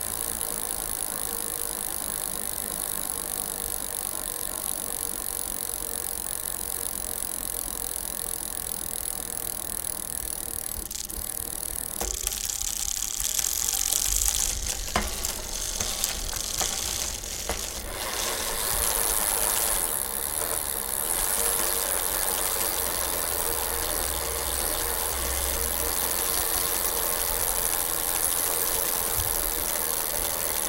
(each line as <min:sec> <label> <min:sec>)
0:00.0 gears 0:30.6
0:12.0 bike tire scrapped while spinning 0:23.6